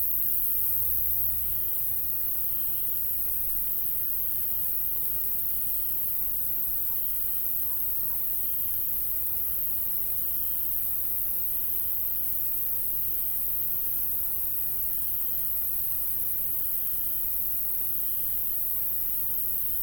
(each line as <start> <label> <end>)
0.0 High-pitched crickets 19.8